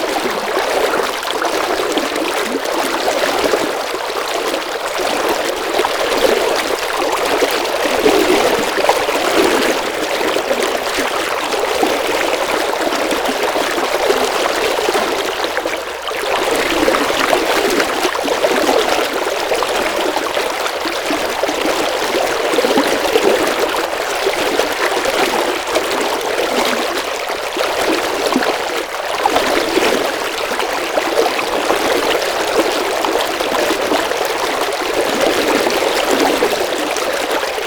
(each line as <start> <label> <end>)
0.0 legs and river 37.6